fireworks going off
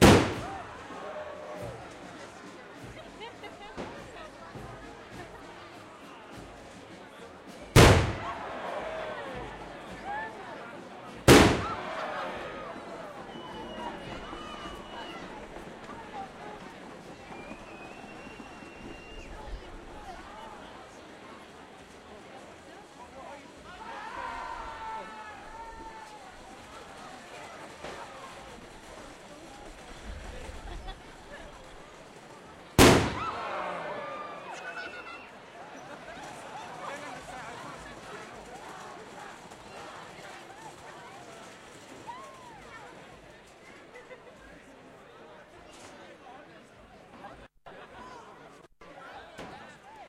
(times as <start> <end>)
0.0 10.0, 11.0 19.4, 25.8 35.2